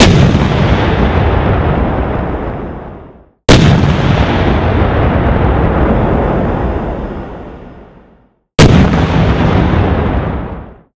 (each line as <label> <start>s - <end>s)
Tank Shots 3.5s - 4.7s
Tank Shots 8.6s - 9.7s